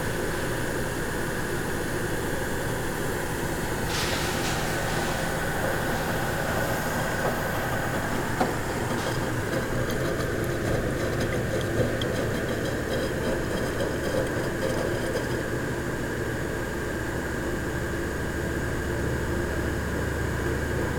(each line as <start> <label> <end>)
3.7 sunday wash 10.0